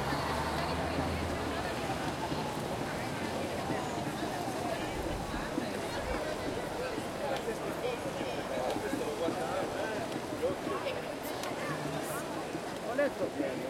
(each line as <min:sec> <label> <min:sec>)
0:00.0 traffic 0:08.8
0:00.0 crowd 0:13.6